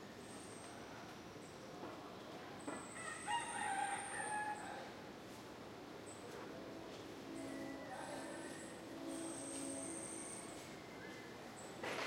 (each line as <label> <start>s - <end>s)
rooster 3.0s - 4.9s